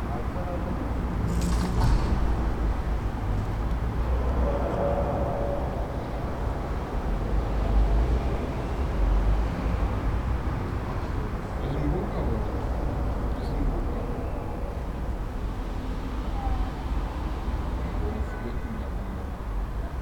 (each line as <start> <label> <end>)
0.0 echo and reflections of street sounds 20.0
0.0 wind 20.0
4.0 sounds from below the ground 7.8